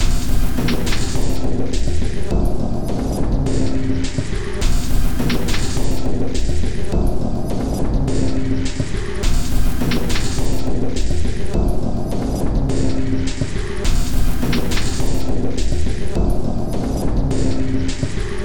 Drum Loop 0.0 - 18.4

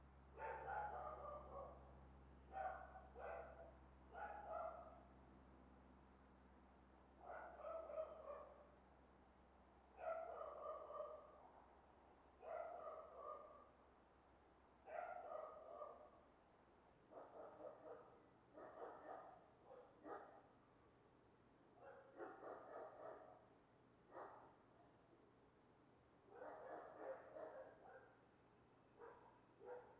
Dogs barking in backyards 0.3 - 5.2
Dogs barking in backyards 7.1 - 8.8
Dogs barking in backyards 9.9 - 11.8
Dogs barking in backyards 12.4 - 13.8
Dogs barking in backyards 14.8 - 16.4
Dogs barking in backyards 17.0 - 20.6
Dogs barking in backyards 21.7 - 25.0
Dogs barking in backyards 26.2 - 28.3
Dogs barking in backyards 28.9 - 29.9

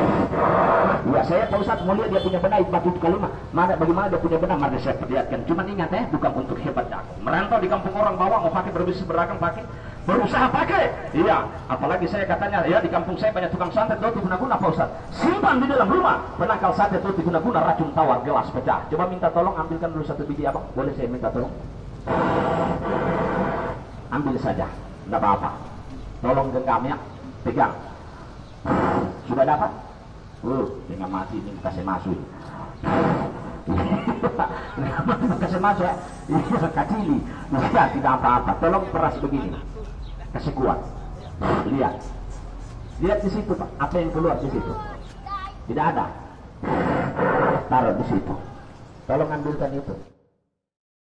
street Jathilan trance ceremony 21.5 - 49.4

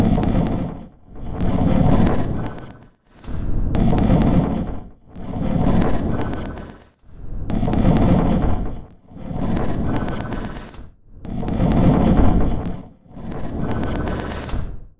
Drum 0.0 - 0.7

